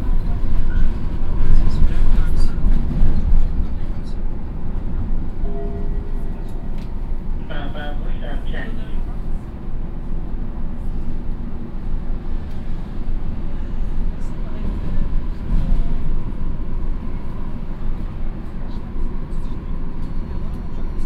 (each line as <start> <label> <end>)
0.0 tram approaching 21.0
0.3 announcement of the next station 10.6